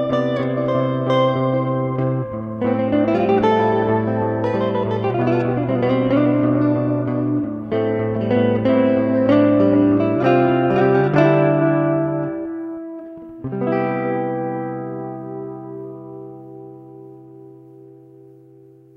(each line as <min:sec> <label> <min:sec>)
0:00.0 electric guitar 0:18.9